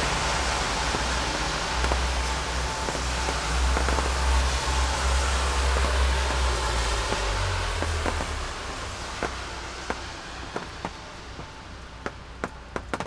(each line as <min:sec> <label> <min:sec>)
0:00.0 rain 0:13.0